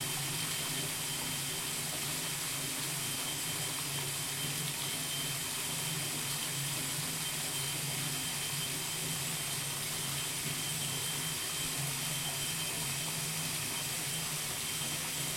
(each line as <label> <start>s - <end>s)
Filling up a bathtub at high Volume 0.0s - 15.3s